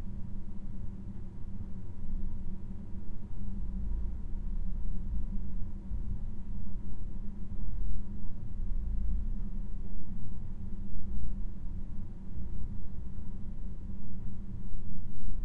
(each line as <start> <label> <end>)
0.0 slow ventilation noise 15.4